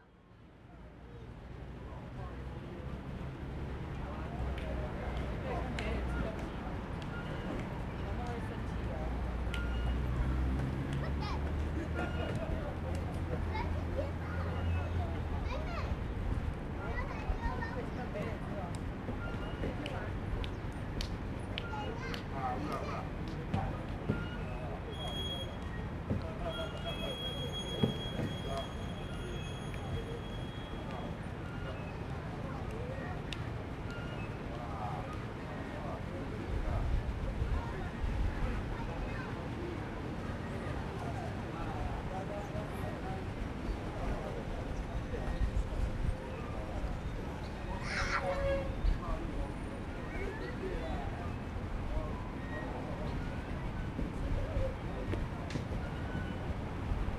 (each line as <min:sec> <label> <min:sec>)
0:10.2 Old people playing chess chat 0:24.0